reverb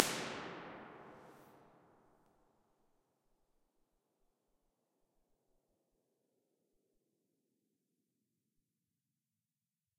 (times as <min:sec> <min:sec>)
0:00.0 0:01.5